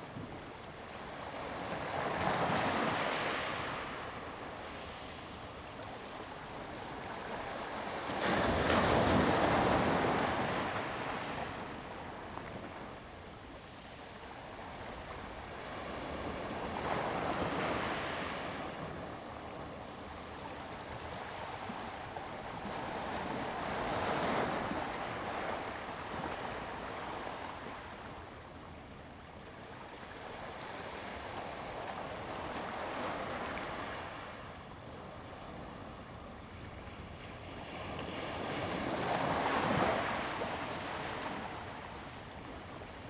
waves 0:14.6 - 0:43.0

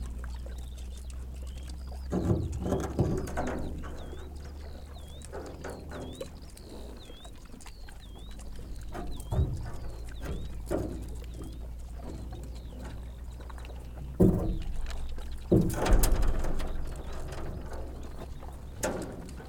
pigs chewing stones 0:00.0 - 0:19.4
drop and play with in their empty metal troughs 0:02.0 - 0:04.6
drop and play with in their empty metal troughs 0:11.9 - 0:19.4

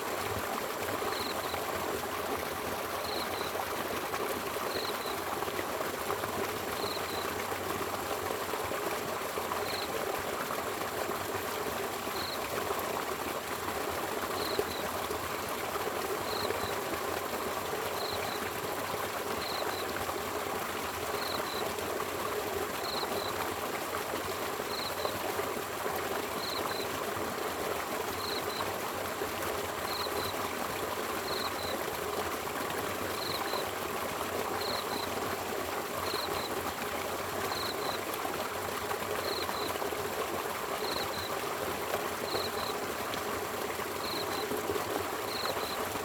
insects 0:01.0 - 0:01.6
insects 0:03.0 - 0:03.6
insects 0:04.7 - 0:05.2
insects 0:06.8 - 0:07.3
insects 0:12.1 - 0:12.4
insects 0:14.4 - 0:14.9
insects 0:16.2 - 0:16.8
insects 0:17.9 - 0:18.5
insects 0:19.4 - 0:20.0
insects 0:22.8 - 0:23.4
insects 0:26.4 - 0:26.9
insects 0:28.2 - 0:28.7
insects 0:29.9 - 0:30.4
insects 0:31.2 - 0:31.8
insects 0:34.5 - 0:35.1
insects 0:37.5 - 0:38.0
insects 0:39.2 - 0:39.7
insects 0:40.8 - 0:41.3
insects 0:42.2 - 0:42.8
insects 0:44.0 - 0:44.6
insects 0:45.2 - 0:45.9

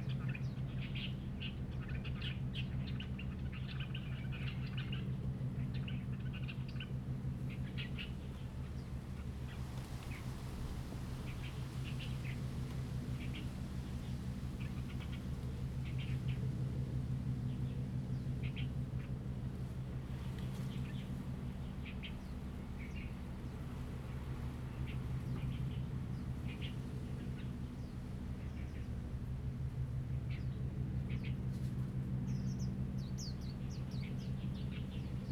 Wind and Trees 0:00.0 - 0:35.3
distant fishing boat 0:10.3 - 0:35.3

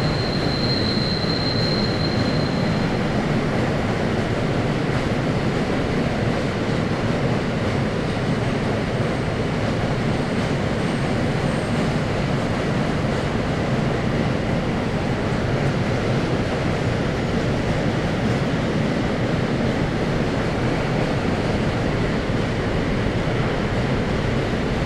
squeaky brakes 0:00.0 - 0:03.4
cargo trains 0:00.0 - 0:24.8
squeaky brakes 0:10.8 - 0:12.1

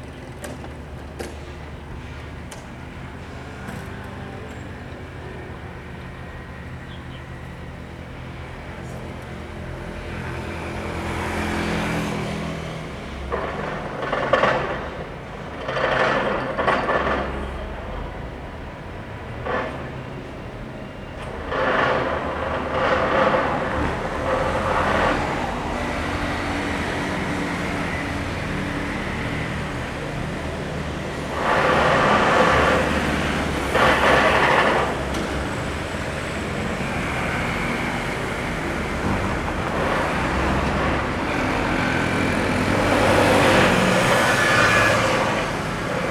Construction 0:00.0 - 0:46.1
traffic noise 0:00.0 - 0:46.1

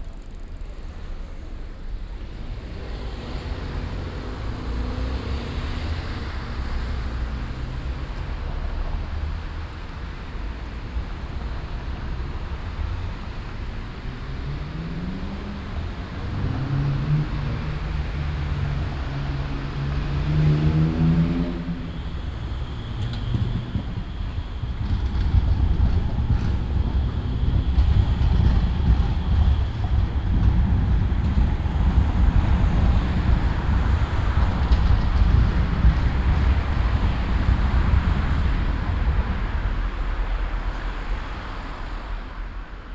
passing by tram 0:00.0 - 0:42.9
traffic 0:00.0 - 0:42.9

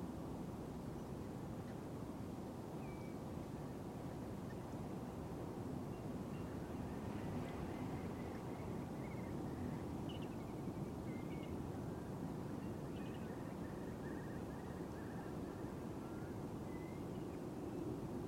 wind-noise 0:00.0 - 0:18.2

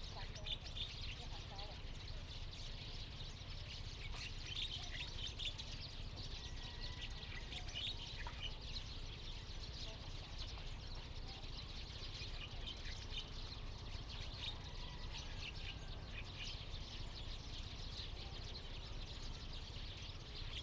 Birds singing 0:00.0 - 0:20.6

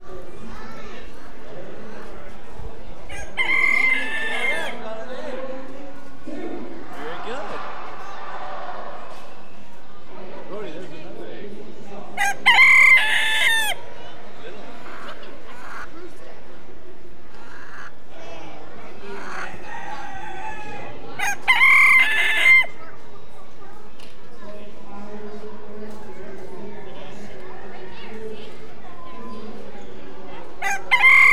Chickens 0:00.6 - 0:04.9
Chickens 0:14.6 - 0:16.0
Chickens 0:17.3 - 0:18.0
Chickens 0:18.9 - 0:22.8

